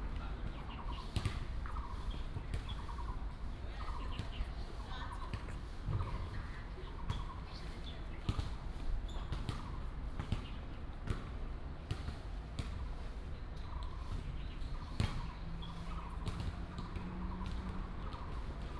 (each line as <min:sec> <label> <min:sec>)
0:00.1 play basketball 0:03.1
0:05.3 play basketball 0:07.4
0:08.2 play basketball 0:12.9
0:13.6 play basketball 0:15.3
0:15.2 traffic sound 0:18.7
0:16.2 play basketball 0:18.7